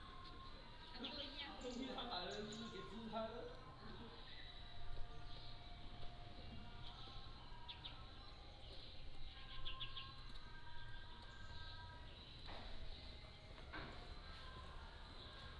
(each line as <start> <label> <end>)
0.0 Birds singing 15.5